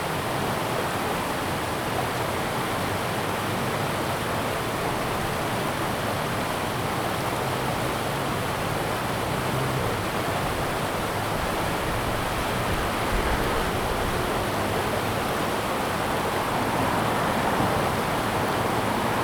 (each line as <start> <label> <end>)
0.0 Stream sound 19.2
5.0 Traffic Sound 19.2